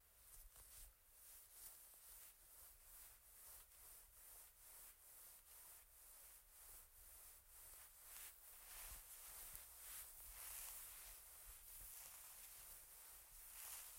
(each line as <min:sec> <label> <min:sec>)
0:00.1 running my hand through the blankets 0:13.9